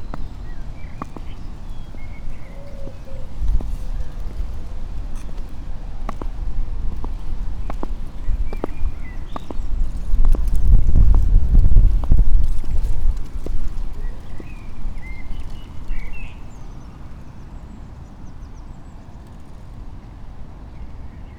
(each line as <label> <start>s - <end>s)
with clogs 0.0s - 16.2s
two boys skating 0.0s - 17.6s
birds 0.0s - 20.1s
winds 0.0s - 21.3s